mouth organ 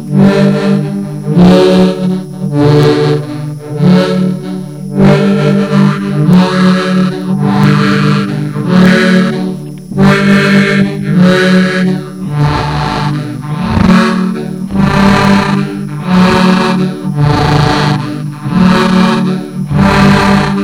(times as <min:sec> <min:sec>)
0:05.7 0:20.6